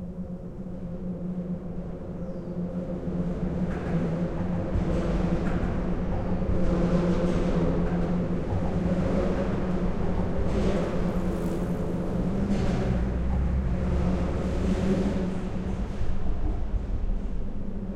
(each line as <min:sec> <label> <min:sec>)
0:03.5 Cars passing on a metal bridge 0:17.9